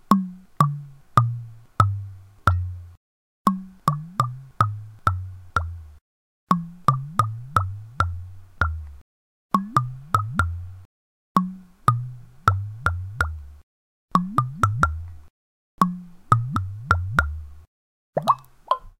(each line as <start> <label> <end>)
18.2 bottle-glugs 18.9